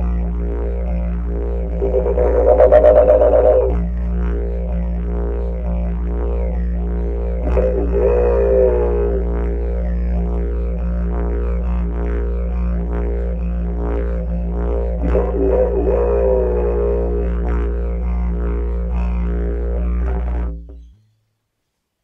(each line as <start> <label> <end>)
0.0 Didgeridoo 21.0